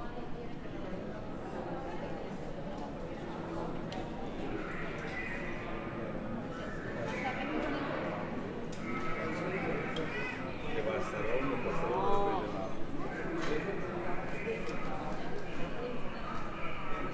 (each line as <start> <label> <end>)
0.0 travellers to Turkey gathered and are audible 17.1